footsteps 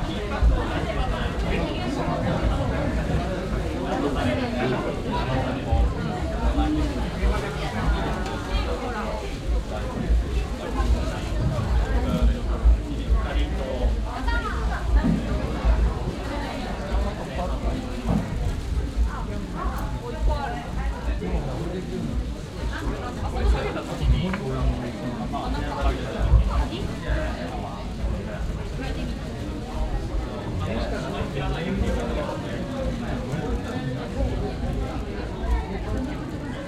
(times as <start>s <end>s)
5.7s 29.6s